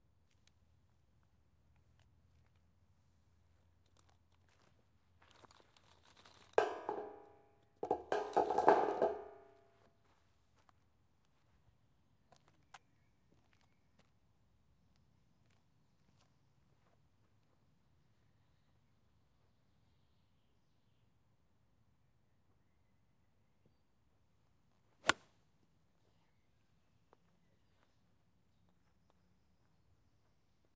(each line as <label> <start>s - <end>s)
Golf hit with an iron seven 6.6s - 9.5s